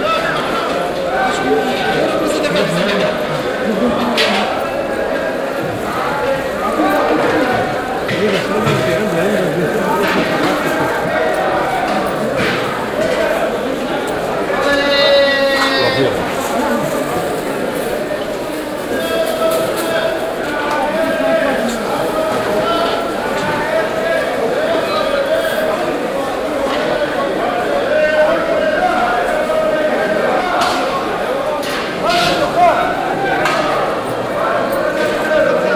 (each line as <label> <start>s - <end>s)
fruit traders calling out prices 0.0s - 35.7s
people with plastic bags 0.0s - 35.7s